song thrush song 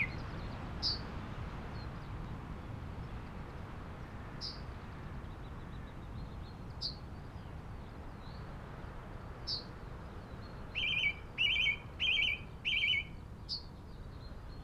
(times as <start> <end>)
0.0 1.1, 9.5 14.6